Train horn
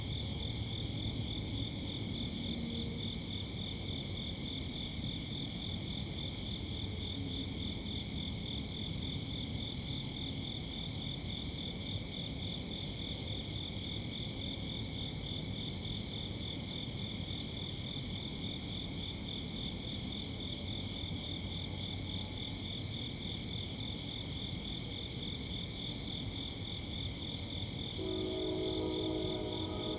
27.9s 29.9s

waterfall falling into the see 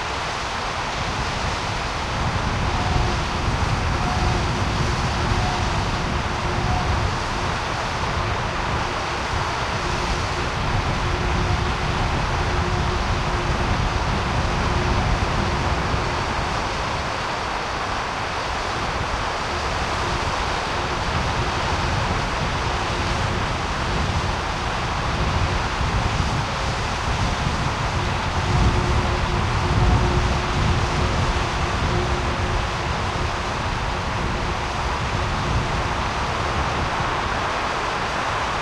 0.0s 2.7s, 32.7s 38.6s

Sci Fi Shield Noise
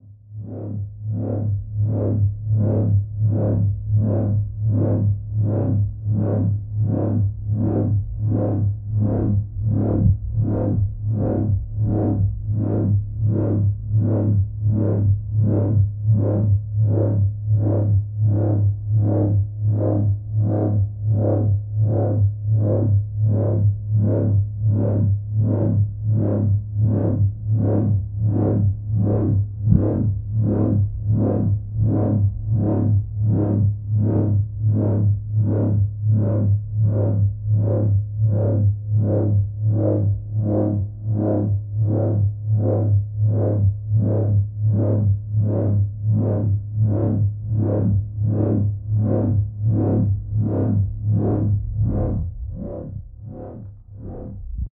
50.0s 54.7s

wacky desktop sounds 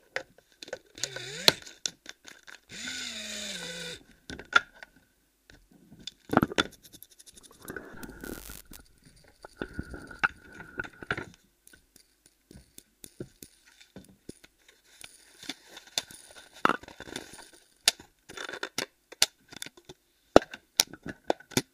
7.3s 10.6s

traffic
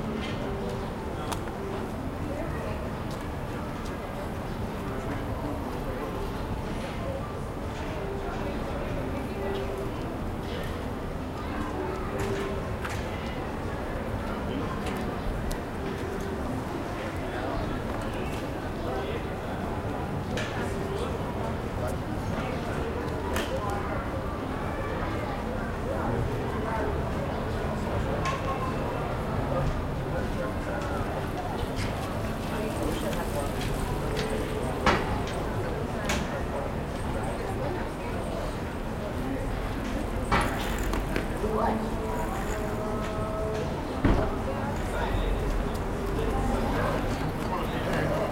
38.4s 48.3s

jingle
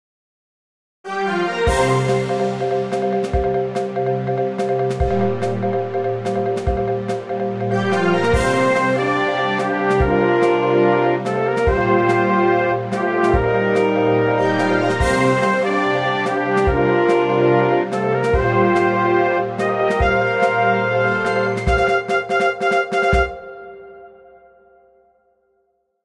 4.8s 11.0s, 14.4s 17.6s, 20.0s 23.0s

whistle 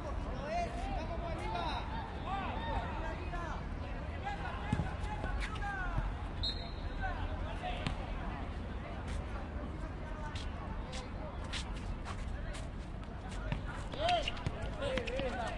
6.4s 7.0s

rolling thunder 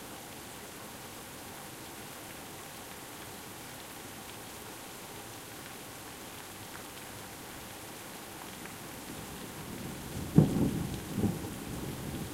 10.3s 12.3s

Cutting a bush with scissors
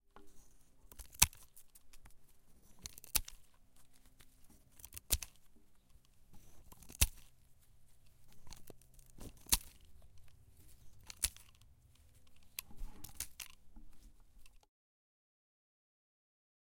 0.9s 2.1s, 2.8s 3.5s, 4.7s 5.4s, 6.4s 7.4s, 8.3s 13.6s

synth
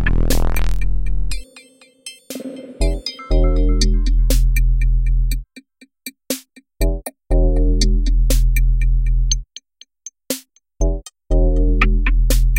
0.0s 1.8s

